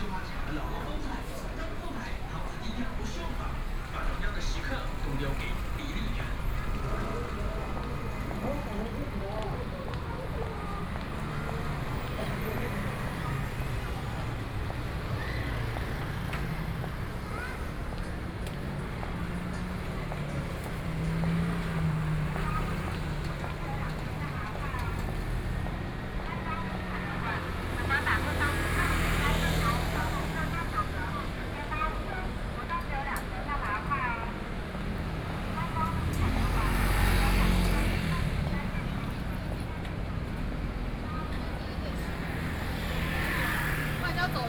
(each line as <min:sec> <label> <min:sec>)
0:00.0 People walking in the street 0:44.4
0:00.0 Traffic Noise 0:44.4
0:00.0 Various businesses voices 0:44.4